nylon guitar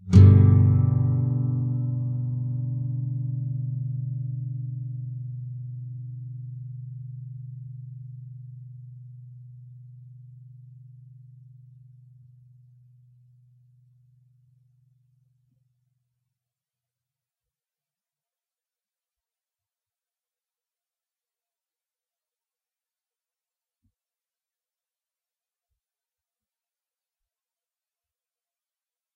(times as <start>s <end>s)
0.0s 12.6s